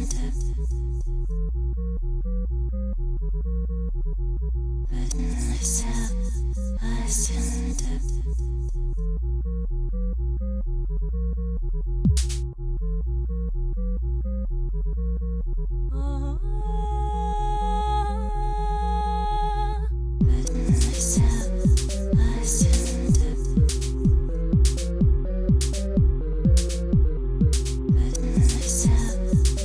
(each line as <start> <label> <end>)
0.0 lovely vocal 1.3
0.0 bass 29.6
4.9 lovely vocal 8.9
12.1 drum 12.4
15.9 lovely vocal 24.9
20.2 synth 29.6
20.2 drum 29.6
27.9 lovely vocal 29.6